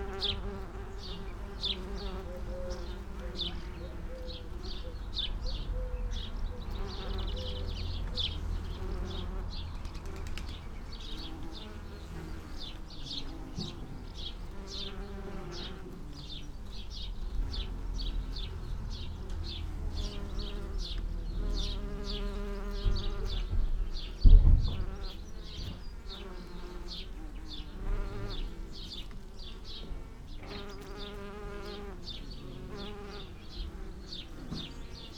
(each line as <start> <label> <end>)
0.0 bees on lavender 35.1
0.0 house sparrow 35.1
0.1 blackbird 35.1
4.0 traffic 10.8
16.8 traffic 21.7